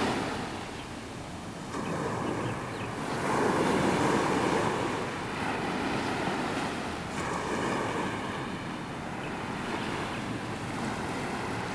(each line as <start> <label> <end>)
0.0 waves 11.7